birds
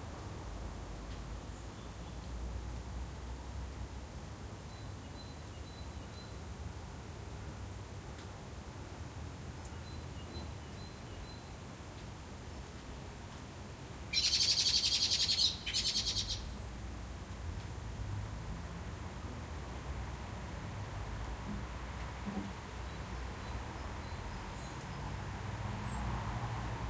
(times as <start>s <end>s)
14.1s 16.8s